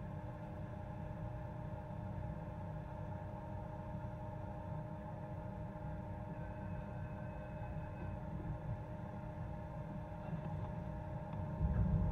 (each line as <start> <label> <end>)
3.8 metro 12.1